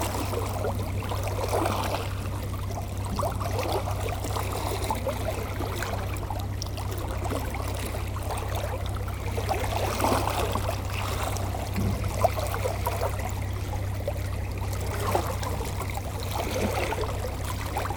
empty Container ship going to the harbour 0:00.0 - 0:17.9
water flowing 0:00.0 - 0:17.9

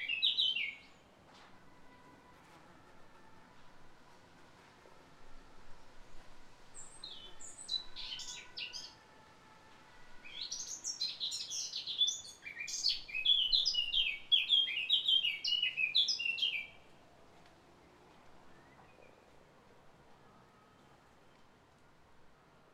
Bird singing 0:00.0 - 0:01.0
Bird singing 0:06.8 - 0:09.0
Bird singing 0:10.2 - 0:16.8

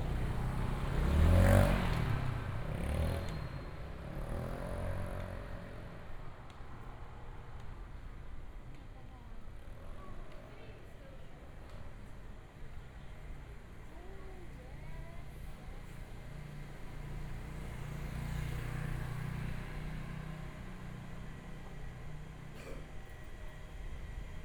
Motorcycle sound 0:00.0 - 0:03.5

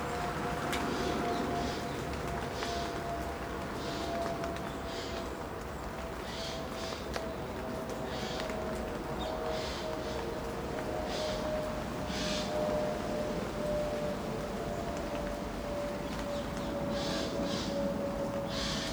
Planes 0:07.9 - 0:18.9

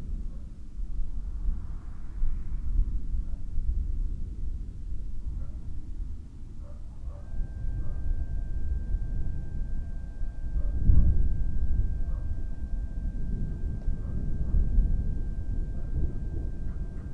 moving away thunderstorm 0:07.3 - 0:17.1

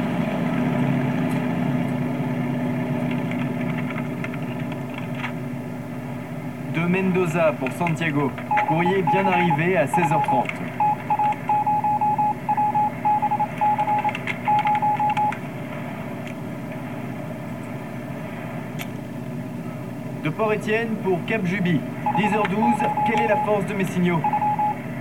looped audio message 0:06.8 - 0:15.4
looped audio message 0:20.2 - 0:24.8

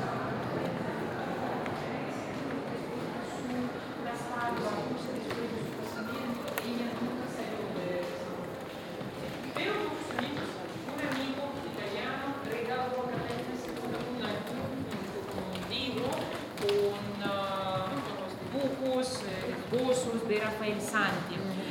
Visitors 0:00.0 - 0:21.7
multiple languages reflections 0:00.0 - 0:21.7

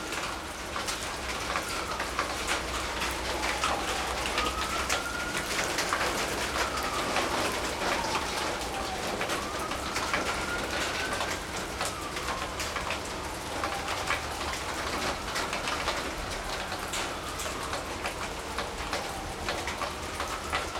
Rain 0:00.0 - 0:20.7

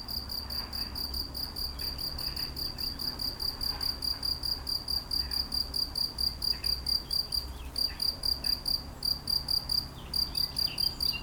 Locust singing in the grass 0:04.3 - 0:11.2

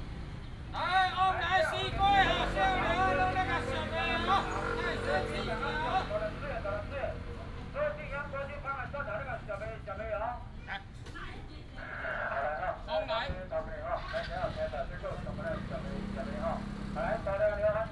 Traffic sound 0:00.0 - 0:17.9

